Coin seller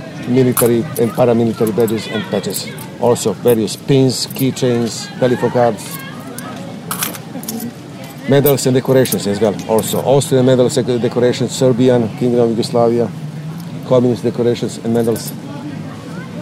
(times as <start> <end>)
0.4 5.0, 5.8 10.1, 14.9 15.3